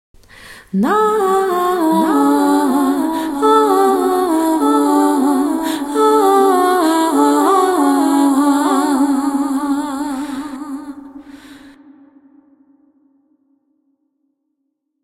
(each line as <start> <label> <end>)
0.7 descending dual female vocal 12.5